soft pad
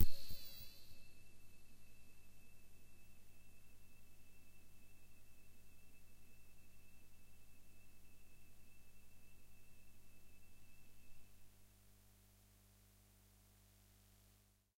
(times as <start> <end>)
0.0 1.2